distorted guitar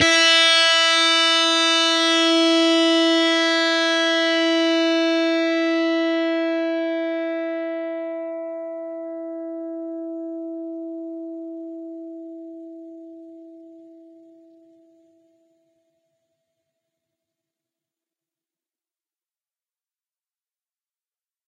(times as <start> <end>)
0.0 14.4